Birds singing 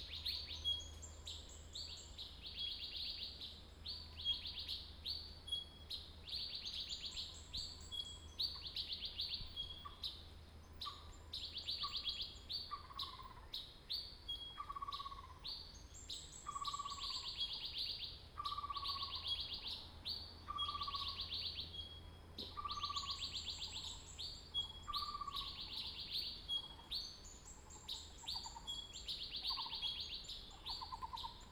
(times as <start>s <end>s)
10.8s 31.5s